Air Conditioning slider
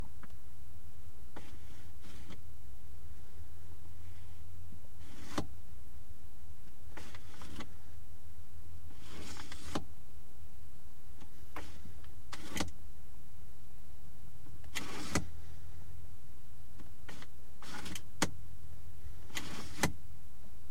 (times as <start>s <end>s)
1.4s 2.4s, 5.0s 5.5s, 6.9s 7.8s, 8.9s 9.8s, 11.2s 12.8s, 14.6s 15.5s, 17.1s 18.3s, 19.2s 20.0s